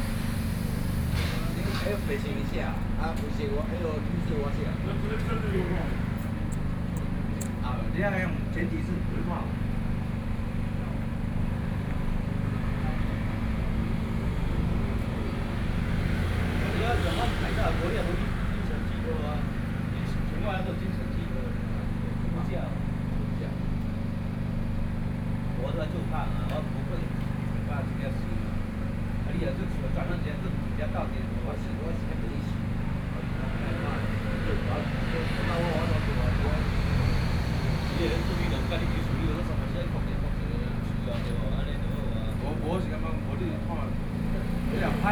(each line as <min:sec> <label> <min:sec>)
0:00.0 Traffic Sound 0:45.1